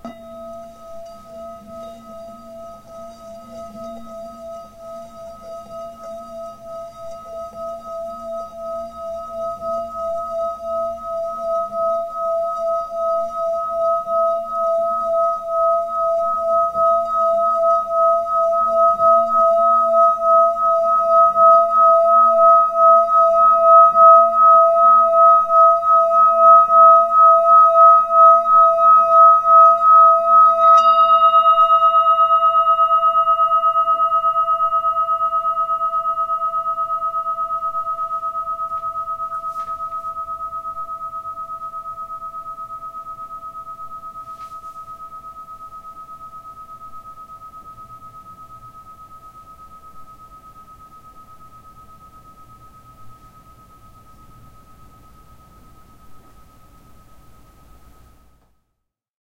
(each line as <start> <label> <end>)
0.0 singing bowl played with the wood part of the mallet 58.4